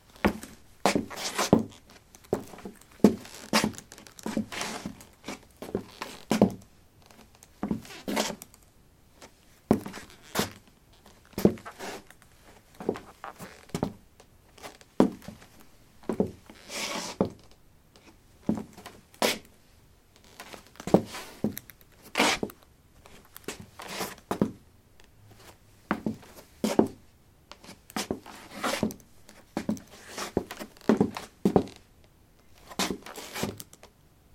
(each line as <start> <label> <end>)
27.6 Shuffling on a wooden floor 31.8